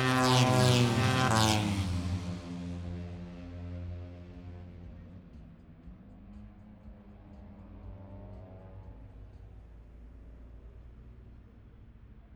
0.0s moto three 9.4s

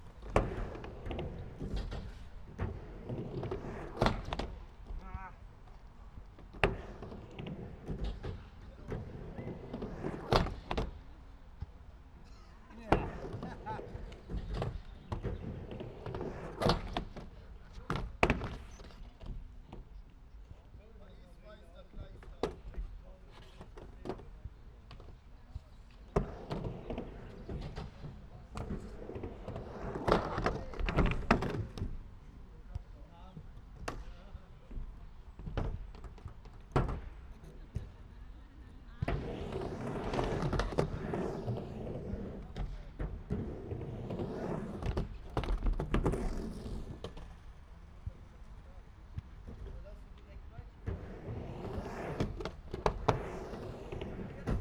0.0s Skater at half pipe 54.6s

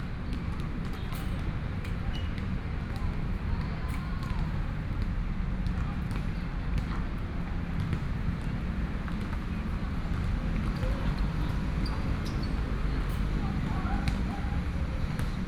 0.1s Basketball 15.4s

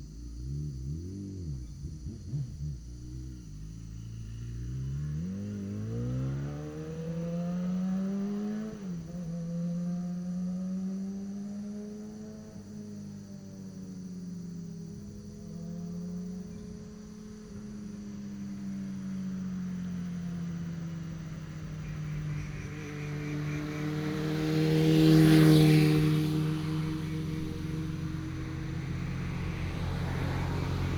0.0s motorcycle 30.9s
20.3s Birds sound 24.9s

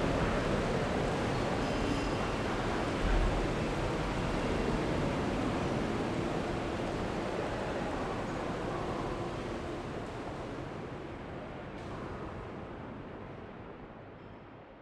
7.2s people talking 10.1s

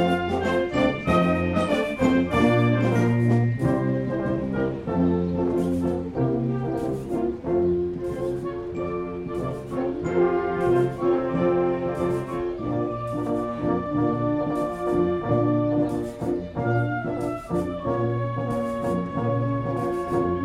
0.0s concert 20.4s

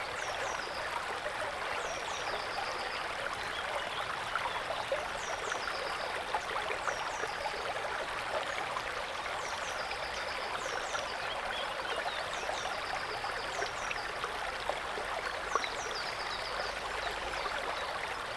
0.0s Forest brook 18.3s

